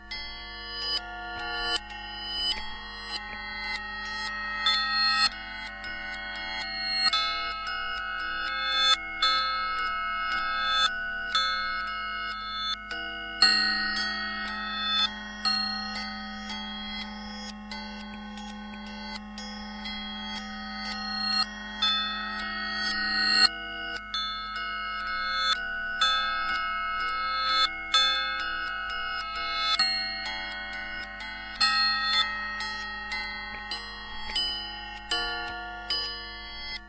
0.0s Playing on galvanized steel supports 36.8s

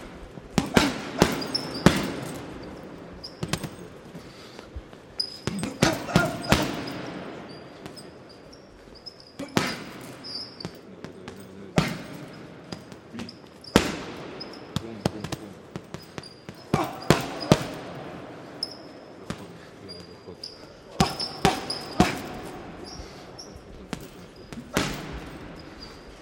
0.0s boxer hits punching bag 2.7s
3.3s boxer hits punching bag 3.9s
5.4s boxer hits punching bag 8.0s
9.4s boxer hits punching bag 18.2s
21.0s boxer hits punching bag 23.0s
23.9s boxer hits punching bag 25.6s

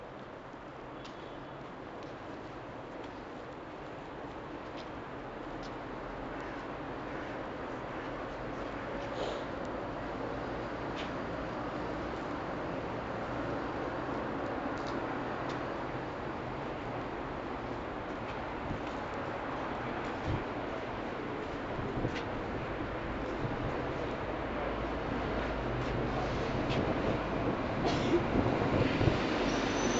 25.3s my train arrives 29.9s

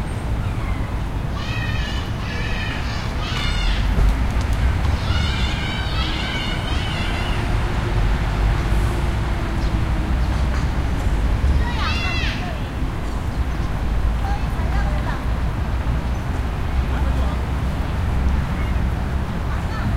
0.0s traffic 19.9s

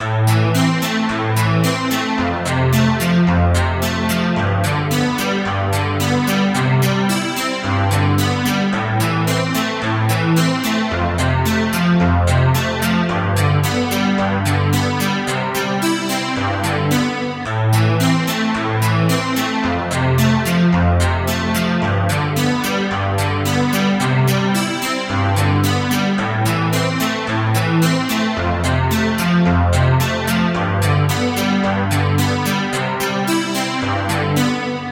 0.0s Music Loop 34.9s

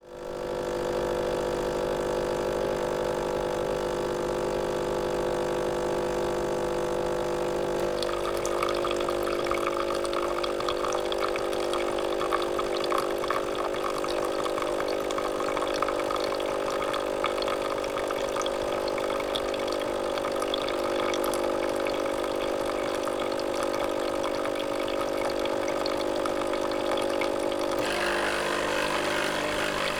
0.0s Rinse cycle of a Nespresso Coffee makers descaling process 29.9s

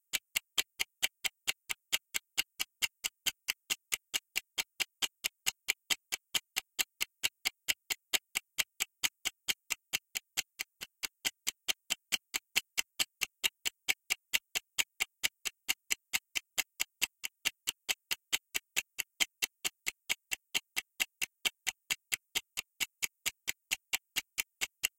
0.1s Ticking Timer 24.9s

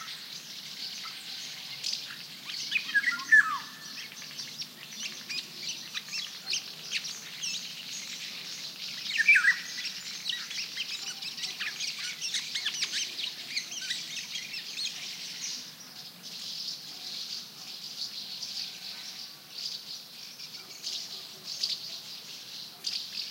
0.0s chirps of House Martins 23.3s
1.0s flute-like, mysterious singing of one Golden Oriole 11.0s

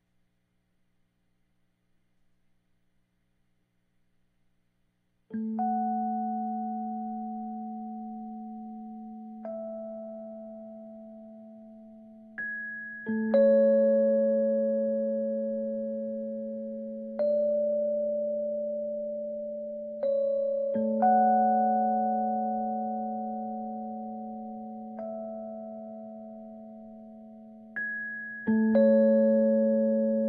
5.3s Rhodes melody 30.2s

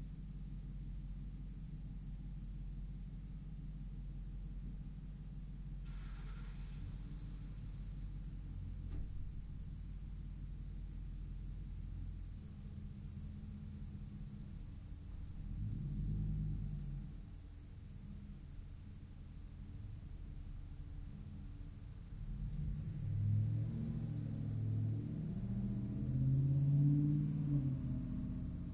5.8s Second vehicle starts it's engine 8.0s
21.1s Truck stands ital for a long while 28.7s

